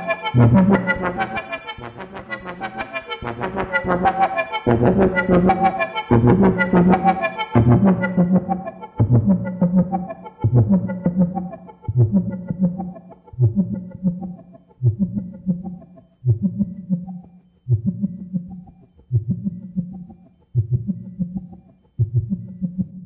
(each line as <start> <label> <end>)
0.0 Two VCOs and a moog filter clone being sequenced 23.0